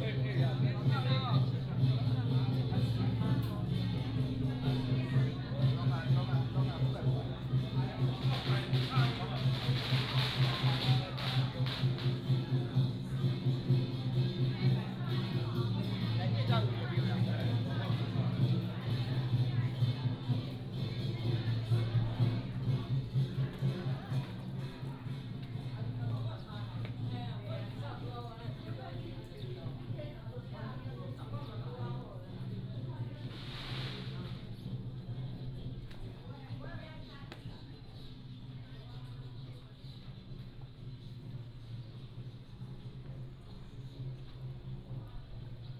0.0s Walking in the temple 45.7s
8.1s firecracker 12.6s
33.3s firecracker 34.4s

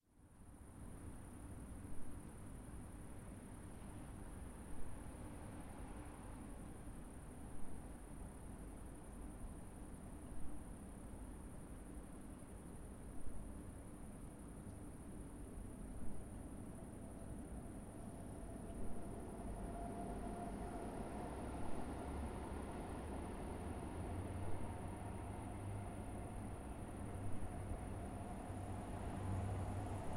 3.3s Tram 9.4s
16.2s Tram 30.1s

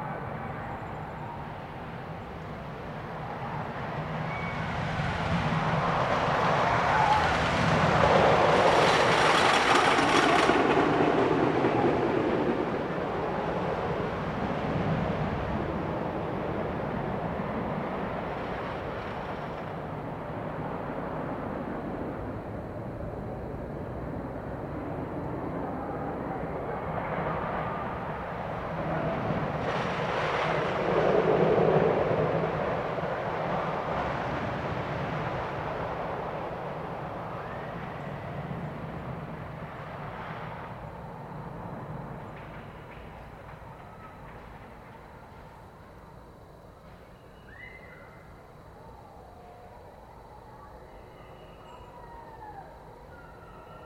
0.0s wooden roller coaster 46.1s

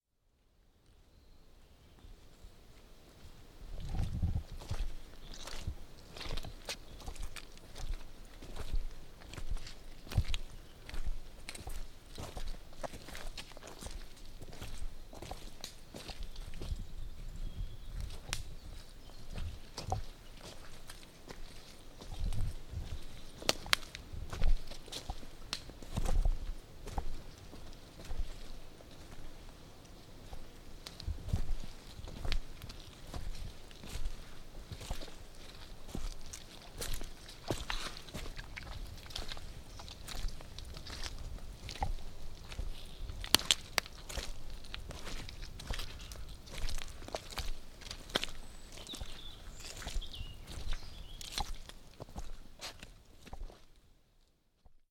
2.7s Muddy walk 54.8s

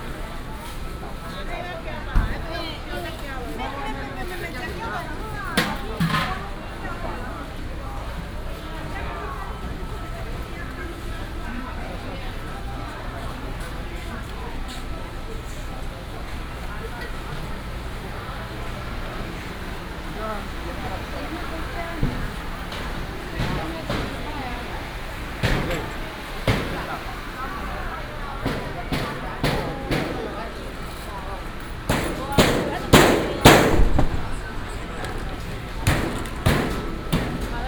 0.0s walking in the Evening market 37.6s
7.6s Traffic sound 37.6s

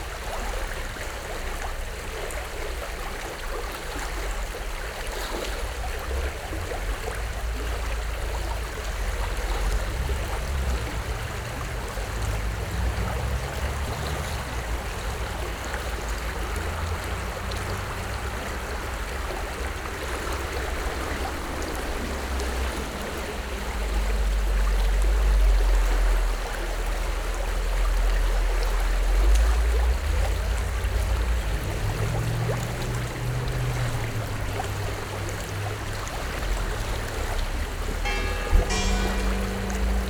0.0s flow of Gradaščica river 40.0s

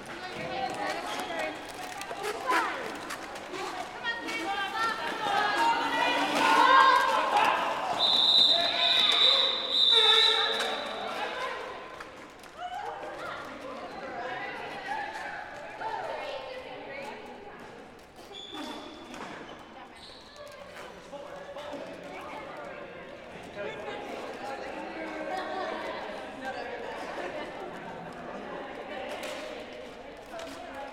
0.0s Roller Derby practicing 16.1s

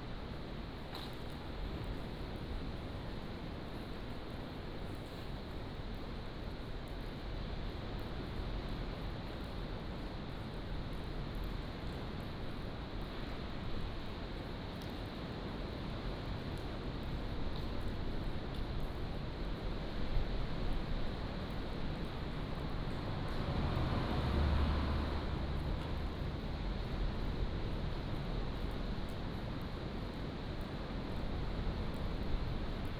14.9s waves 30.4s

